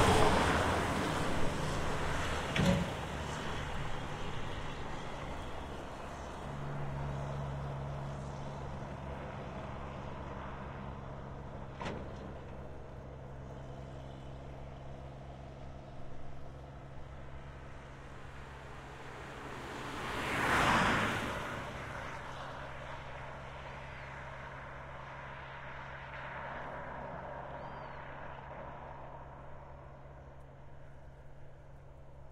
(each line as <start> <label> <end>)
0.0 Heavy cargo trucks pass by left to right and right to left 32.3
0.0 cars 32.3
27.4 birds on background 28.5